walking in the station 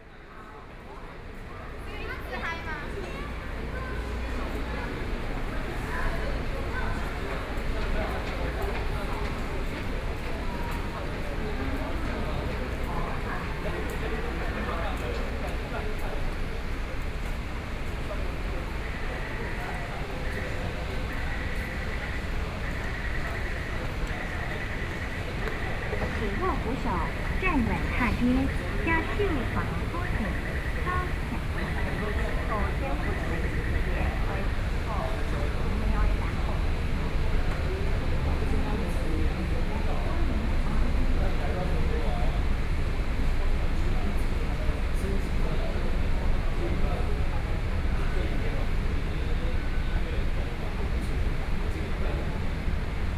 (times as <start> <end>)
17.7 38.0